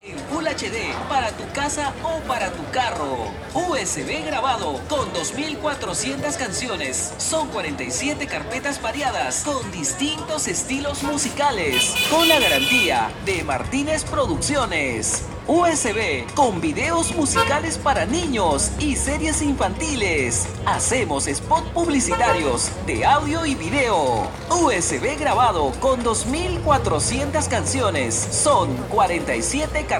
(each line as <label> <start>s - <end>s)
Vendedor de USB con canciones 0.2s - 29.9s